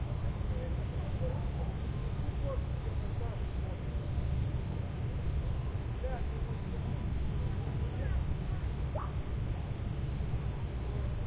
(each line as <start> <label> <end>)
0.0 crickets 11.2
8.9 frog 9.2
9.0 Dog barking 9.2